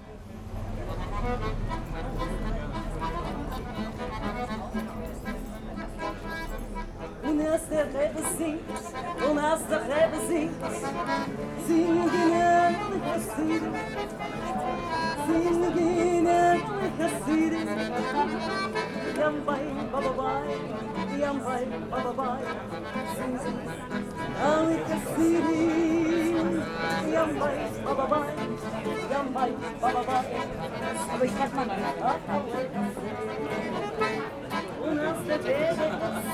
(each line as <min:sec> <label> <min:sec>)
0:00.0 street musicians performing a yiddish song 0:36.3